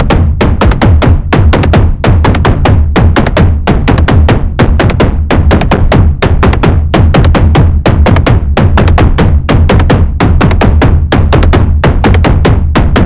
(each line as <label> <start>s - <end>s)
toms 0.0s - 13.0s